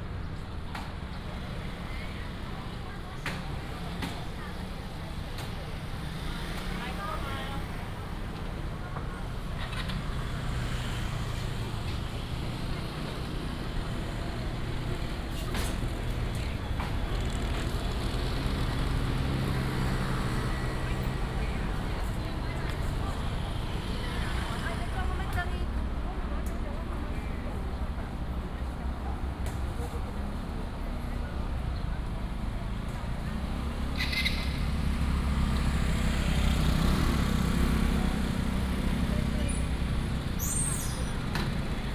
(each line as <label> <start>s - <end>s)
Walking in the market 0.0s - 41.9s
motorcycle 0.3s - 25.8s
Vendors 13.2s - 40.4s
motorcycle 27.5s - 41.9s